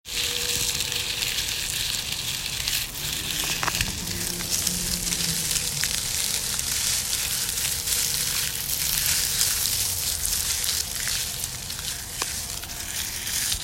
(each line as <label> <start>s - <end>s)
rustling a batch of leaves with hands 0.0s - 13.6s